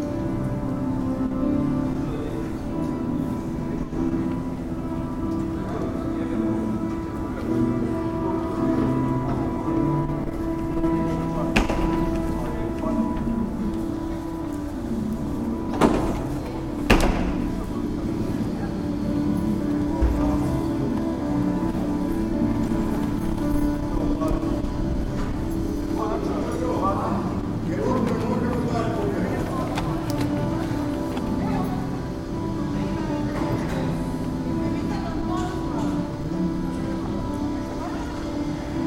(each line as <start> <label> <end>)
0.0 groups of people crossing the square 38.8
0.0 muttered conversations 38.8
0.0 noise from the cafes 38.8
0.0 someone is playing piano 38.8